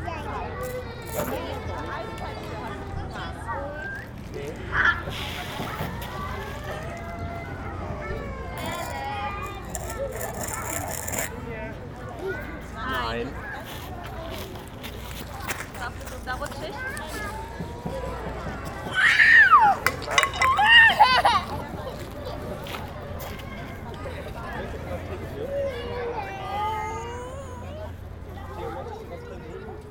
0.0s Children playing in the park 29.9s

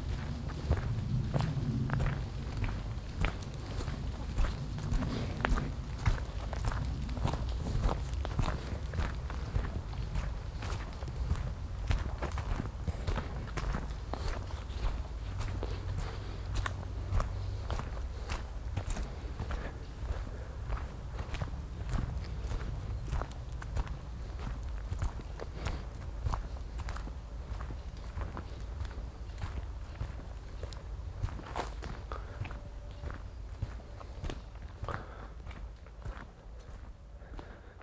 0.0s steps on the stoney and light muddy forest ground 37.8s

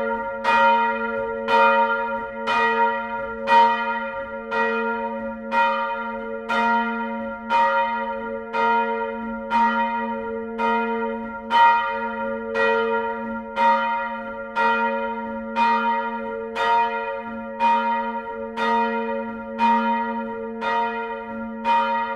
0.0s bells 22.1s

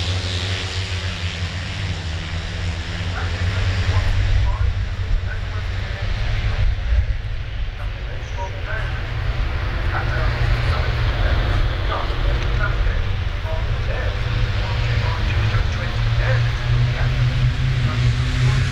0.0s british motorcycle grand prix 18.7s

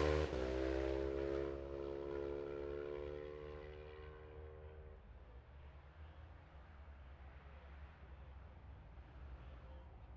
0.0s road racing 4.9s

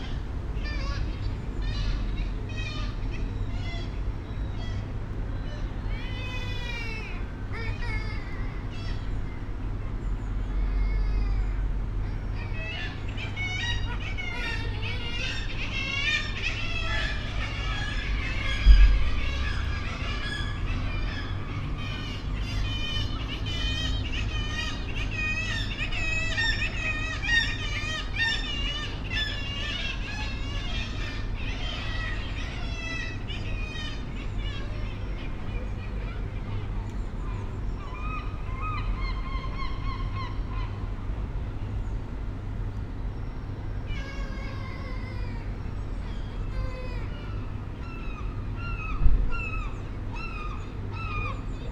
0.0s air conditioning 51.7s
0.0s kittiwake colony on the ledges and window sills 51.7s
0.0s traffic 51.7s
0.0s voices 51.7s
10.4s herring gull 41.2s
43.2s herring gull 51.7s

